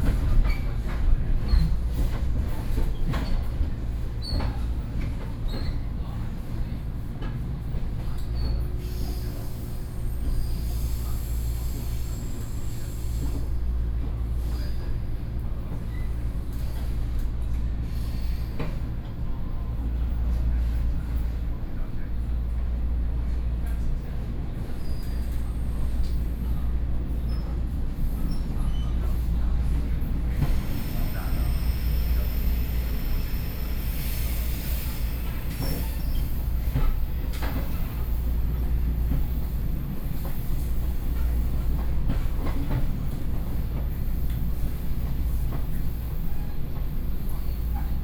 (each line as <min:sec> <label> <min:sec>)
0:00.0 Inside the train 0:48.0